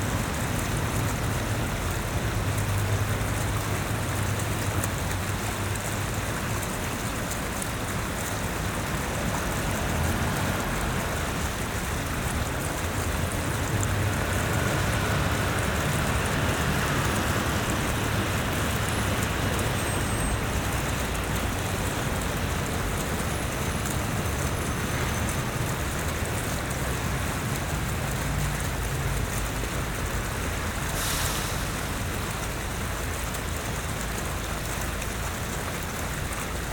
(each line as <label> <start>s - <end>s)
Fountain 0.0s - 36.7s
cars nearby 0.0s - 36.7s